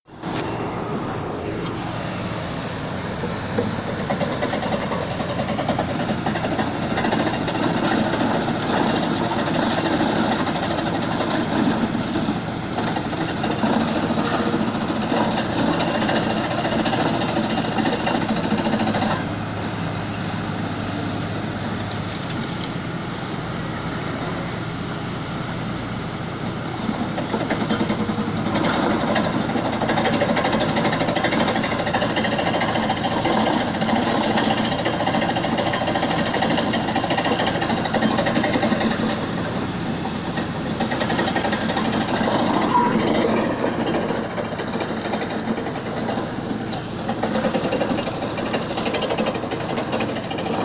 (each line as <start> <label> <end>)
0.0 Men and machines at work on a road 50.6